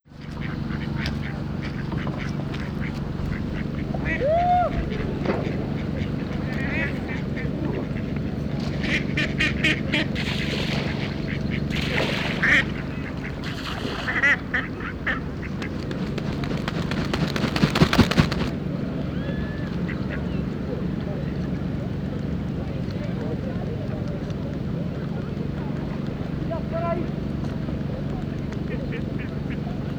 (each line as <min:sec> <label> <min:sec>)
0:00.0 water 0:29.9
0:00.1 ducks 0:18.6
0:10.2 wing flap 0:18.6
0:19.2 ducks 0:20.8
0:28.5 ducks 0:29.9